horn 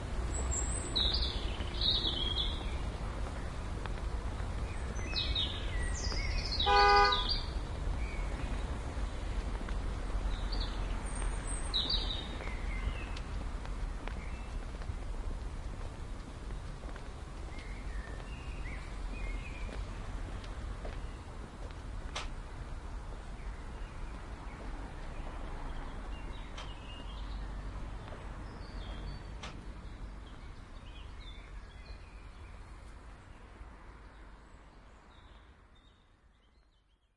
0:06.7 0:07.3

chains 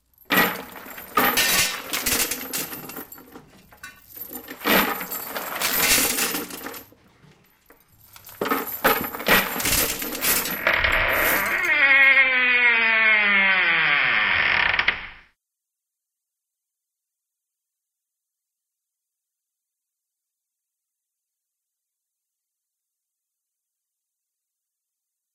0:00.0 0:12.3

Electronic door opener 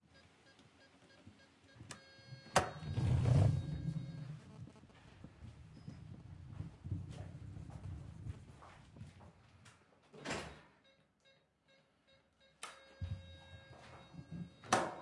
0:01.9 0:04.4

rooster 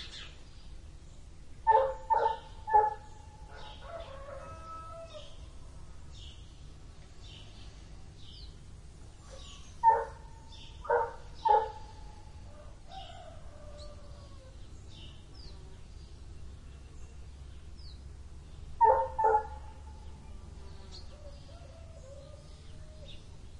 0:03.5 0:05.4

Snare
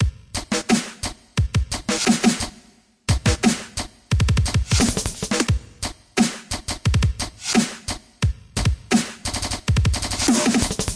0:00.5 0:01.2, 0:01.9 0:02.6, 0:03.4 0:03.8, 0:06.2 0:08.0, 0:08.9 0:10.9

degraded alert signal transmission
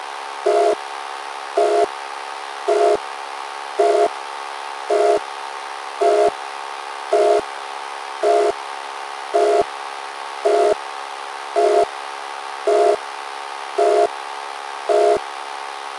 0:00.5 0:00.8, 0:01.6 0:01.9, 0:02.7 0:03.0, 0:03.8 0:04.1, 0:04.9 0:05.2, 0:06.0 0:06.4, 0:07.1 0:07.4, 0:08.2 0:08.6, 0:09.4 0:09.6, 0:10.5 0:10.8, 0:11.6 0:11.9, 0:12.7 0:13.0, 0:13.8 0:14.1, 0:14.9 0:15.2

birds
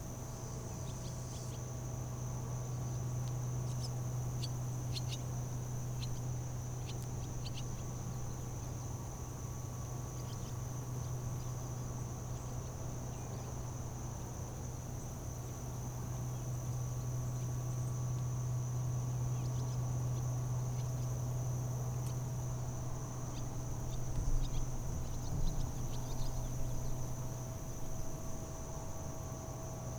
0:19.2 0:28.2

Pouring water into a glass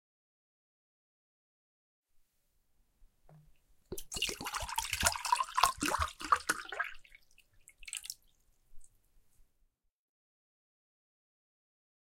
0:03.9 0:09.0

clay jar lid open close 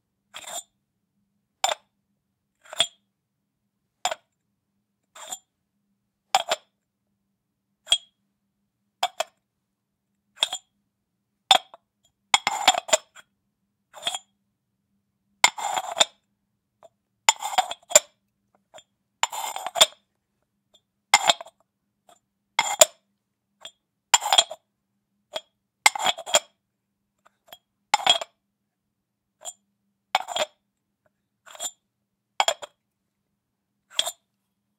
0:30.2 0:30.6, 0:32.4 0:32.8

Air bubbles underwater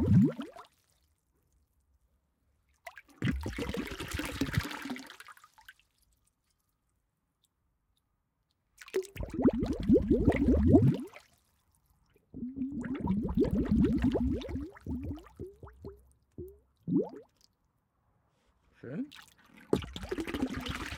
0:00.0 0:00.6, 0:03.2 0:05.1, 0:09.0 0:11.2, 0:12.2 0:17.3, 0:19.7 0:20.9

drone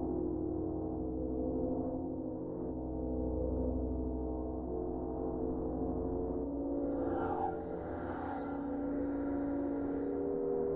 0:06.7 0:10.7

